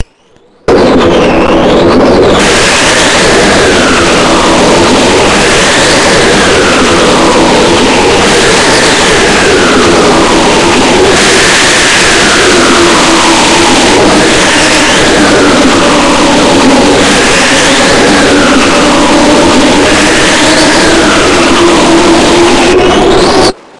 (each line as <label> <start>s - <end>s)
thunder storms 0.6s - 23.7s